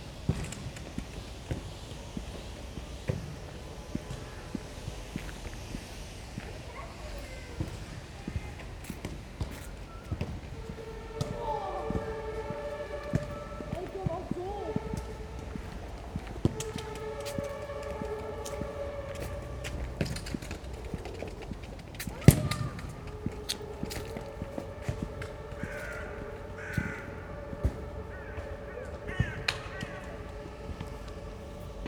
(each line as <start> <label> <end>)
11.0 Family football 15.3
22.1 Family football 23.4
23.6 crows 30.9